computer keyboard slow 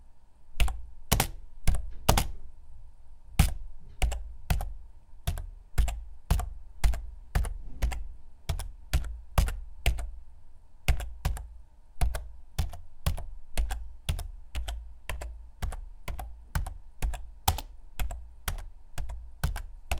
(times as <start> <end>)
3.4 10.2, 10.9 19.9